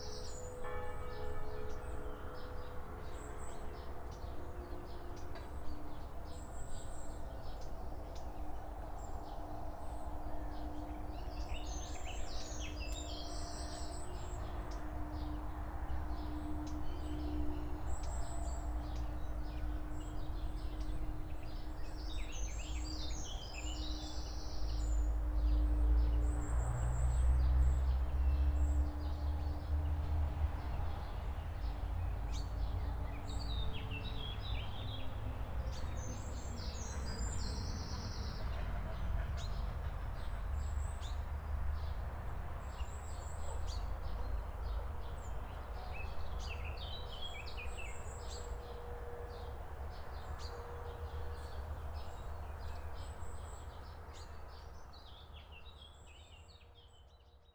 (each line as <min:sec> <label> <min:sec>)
0:00.6 church bells 0:02.0